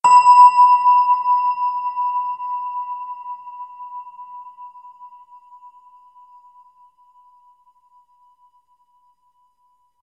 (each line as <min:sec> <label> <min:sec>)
0:00.0 Synthetic Bell Sound 0:06.7